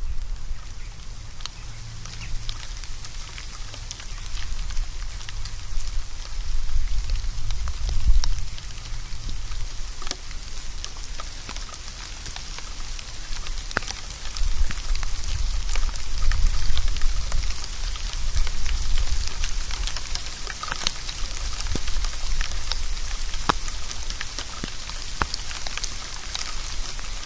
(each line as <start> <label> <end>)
0.0 rain 27.2
0.0 distant traffic 5.7